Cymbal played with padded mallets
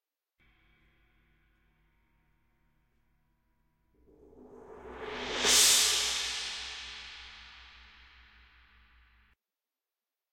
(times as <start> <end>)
4.6 8.3